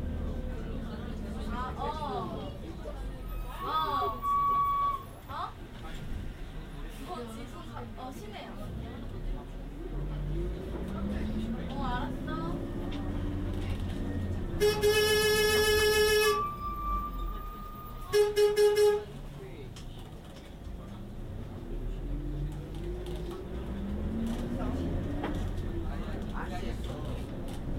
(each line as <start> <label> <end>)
0.0 bus noise 27.7
0.0 people get on the bus and get off the bus 27.7
0.1 Korean chatter 14.6
19.0 Korean chatter 27.7